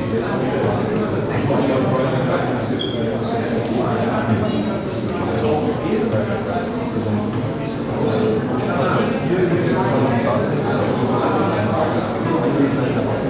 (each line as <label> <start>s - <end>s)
art audience in the crowded hall 0.0s - 13.2s